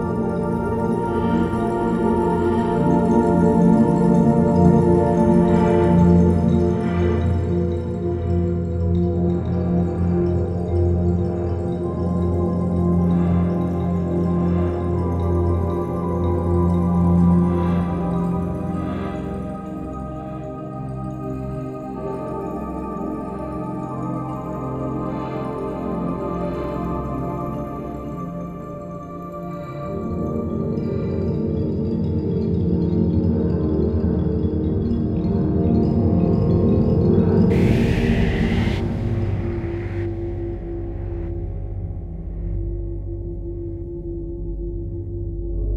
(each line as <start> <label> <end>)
37.0 synth 44.5